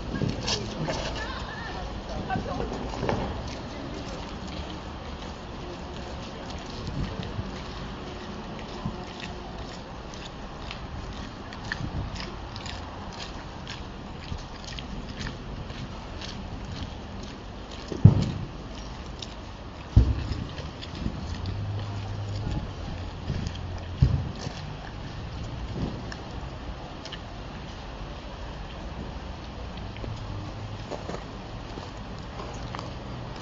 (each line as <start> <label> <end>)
17.9 deep humming sound of the floes crashing onto the street 18.7